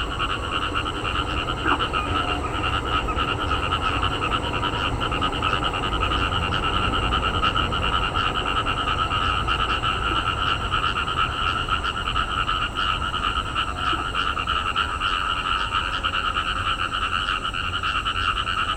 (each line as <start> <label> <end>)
0.0 Frog chirping 18.7
0.0 traffic sound 18.7